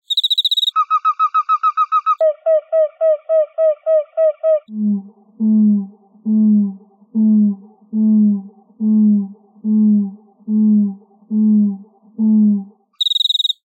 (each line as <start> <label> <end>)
0.0 wings of the cricket 0.8
0.0 Cricket Chirp Slowed 13.6
13.0 wings of the cricket 13.6